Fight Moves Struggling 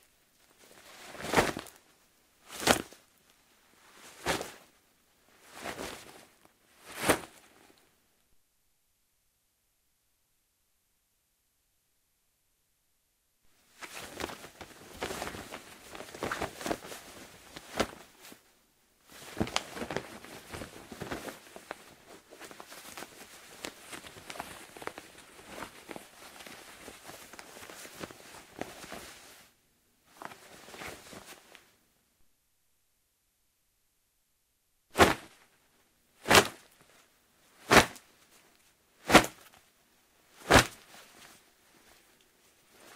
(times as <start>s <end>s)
39.1s 39.5s